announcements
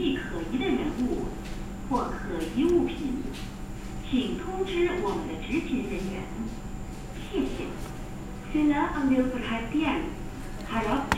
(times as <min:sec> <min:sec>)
0:04.0 0:06.4